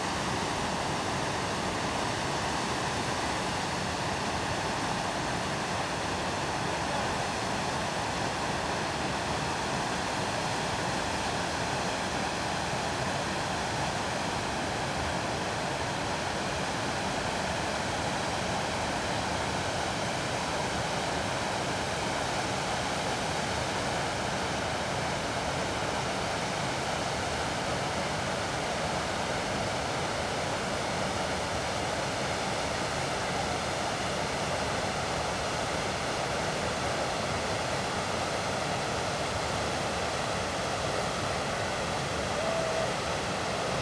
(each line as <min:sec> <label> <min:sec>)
0:00.0 Waterfalls 0:43.8